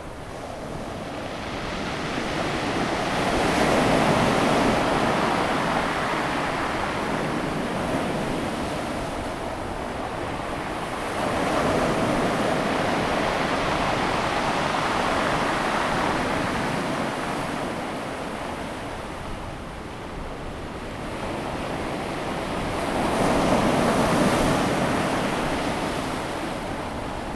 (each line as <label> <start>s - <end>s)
waves 0.0s - 27.3s